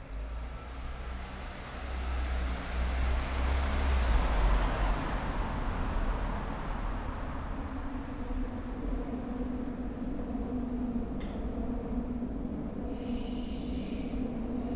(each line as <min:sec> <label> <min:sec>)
0:00.0 cars 0:10.0
0:00.0 pedestrians 0:12.0